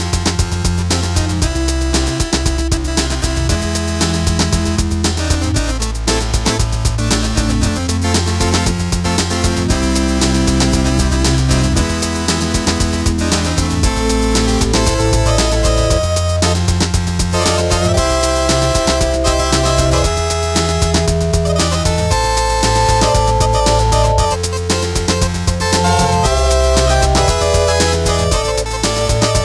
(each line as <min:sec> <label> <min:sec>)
0:00.0 drum machine 0:29.4
0:00.0 organDrums 0:29.4